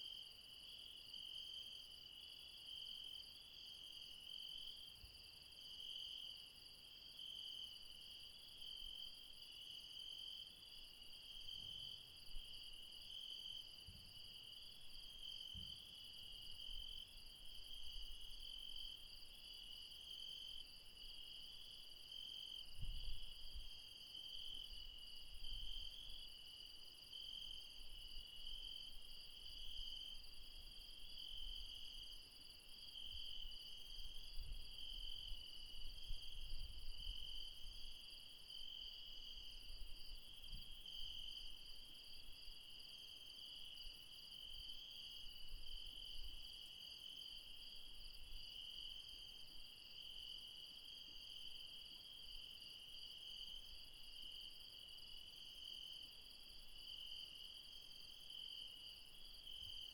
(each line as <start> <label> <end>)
0.0 mountain insects 59.9